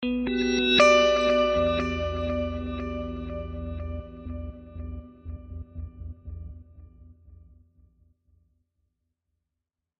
Emin9th Guitar chords with partial reversal 0:00.0 - 0:07.4

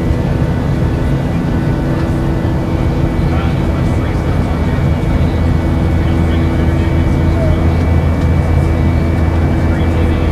Commercial aircraft flying 0:00.0 - 0:10.3
flight attendant announces in-flight instructions 0:01.4 - 0:10.3

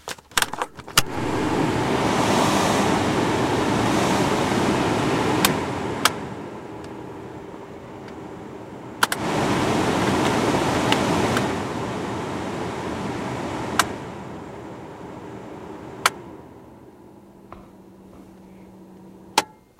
Car Air Vent 0:00.4 - 0:12.2
Car Air Vent 0:17.4 - 0:19.0

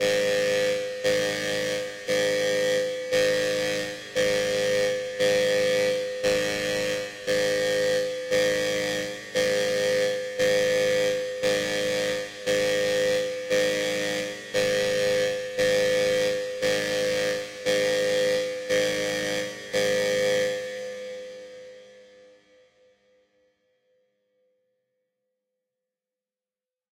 Buzzer Alarm 0:00.0 - 0:22.4

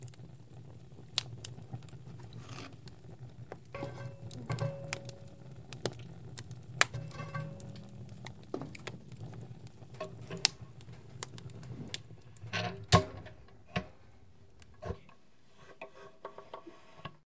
fire 0:00.0 - 0:17.2
Closing Lit Wood-Stove 0:01.2 - 0:17.2
scaped on the metal 0:02.3 - 0:02.8
scaped on the metal 0:14.9 - 0:17.2

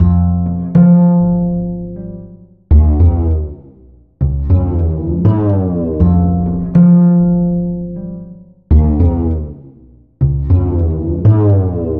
Sliding Bass 0:00.0 - 0:11.9

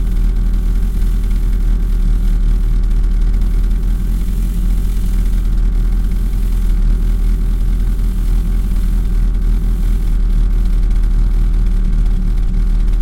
Driving a 147 Fiat 0:00.0 - 0:13.0

